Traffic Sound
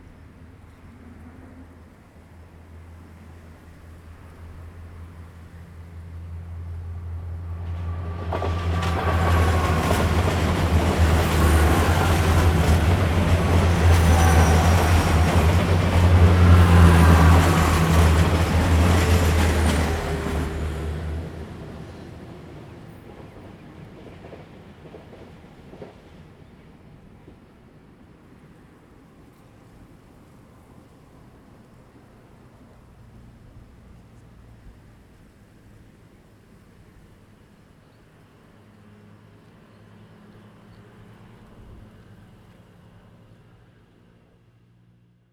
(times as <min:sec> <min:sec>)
0:04.7 0:25.1